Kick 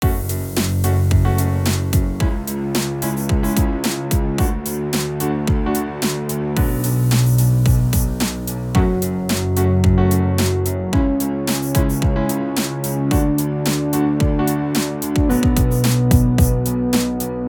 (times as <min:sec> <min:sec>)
0:06.6 0:09.0, 0:11.0 0:11.2, 0:15.2 0:16.7